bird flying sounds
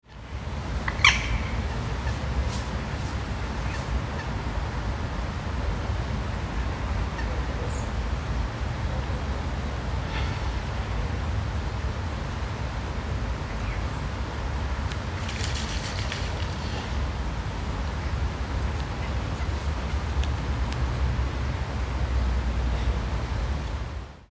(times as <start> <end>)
15.1 17.0